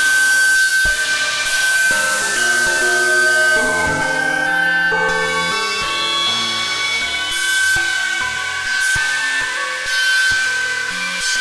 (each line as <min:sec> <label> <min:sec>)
0:01.5 chimes 0:09.0